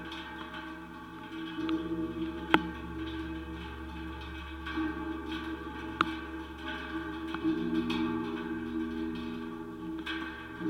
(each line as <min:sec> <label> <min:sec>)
0:00.0 metallic barrier 0:10.6